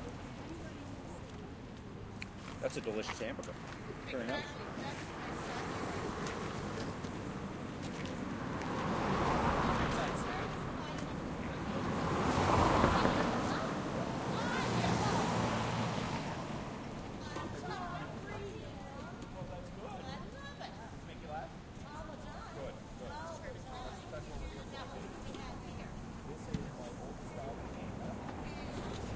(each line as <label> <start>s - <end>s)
Car engine passes with nice low end sound 0.0s - 29.1s
conversation 0.0s - 29.1s
passing traffic 0.0s - 29.1s
Motorcycle passes 8.2s - 18.5s
Car with studs still on tires passes 8.3s - 17.3s
Big truck with rough engine passes 8.8s - 17.7s